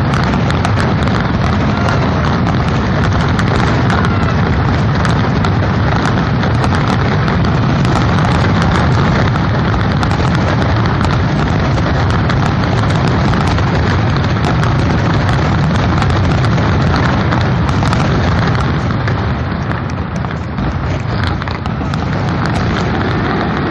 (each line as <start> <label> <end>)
0.0 Light crowd noise 23.7
0.0 fireworks exploding 23.7